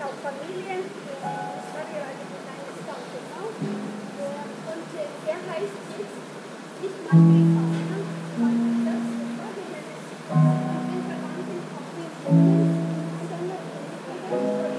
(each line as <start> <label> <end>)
0.0 tourists walking 14.7
0.0 traffic in the distance 14.7
1.2 playing the piano inside 2.7
7.1 playing the piano inside 14.7